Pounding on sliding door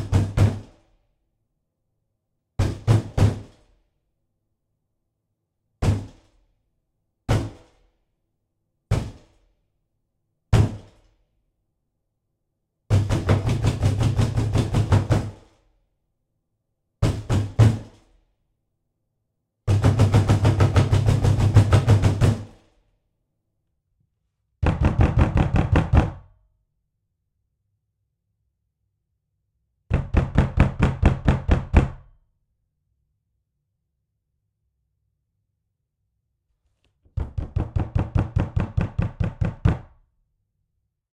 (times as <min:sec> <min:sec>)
0:12.9 0:15.4, 0:19.7 0:22.6, 0:24.6 0:26.2, 0:29.9 0:32.0